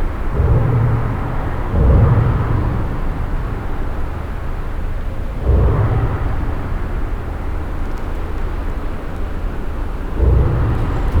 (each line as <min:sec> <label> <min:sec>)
0:00.0 cars crossing the bridge and resonating in the big metall bridge architecture 0:11.2